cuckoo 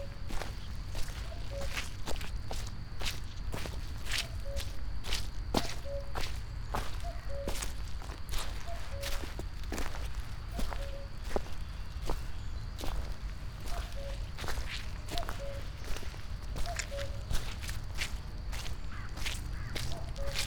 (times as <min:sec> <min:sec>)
0:00.0 0:02.0, 0:04.1 0:11.5, 0:12.8 0:17.6, 0:18.5 0:20.4